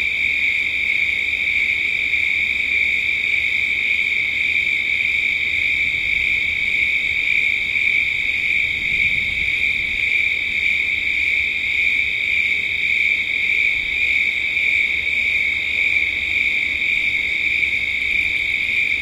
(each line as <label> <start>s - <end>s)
crickets 0.0s - 19.0s